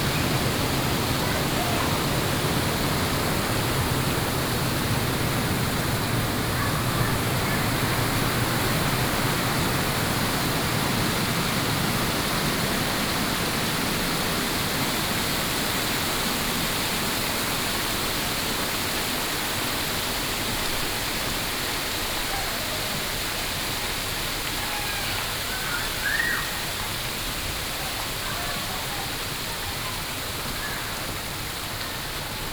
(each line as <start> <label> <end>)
0.0 Fountain 32.5